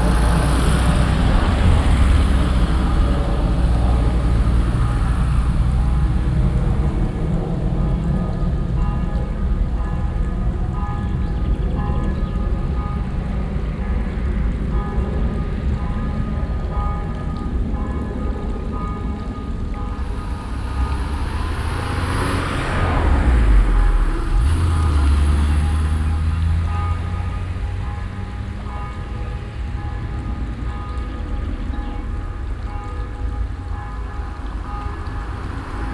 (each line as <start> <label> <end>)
7.9 bells 35.9